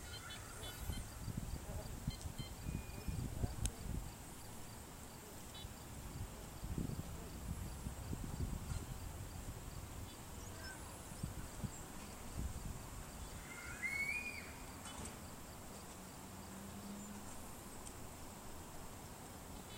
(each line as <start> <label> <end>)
0.0 birds 5.9
0.0 bugs 19.7
0.0 trees 19.7
13.1 birds 16.0